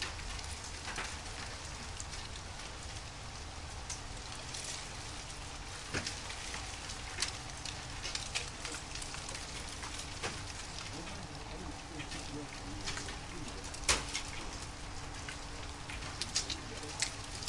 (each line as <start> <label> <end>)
0.0 Ice falling from trees 17.4
0.0 melt water 17.4
7.9 house finches 17.4